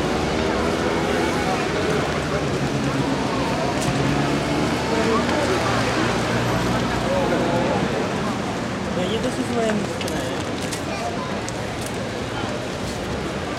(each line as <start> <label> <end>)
0.0 dense street traffic 13.5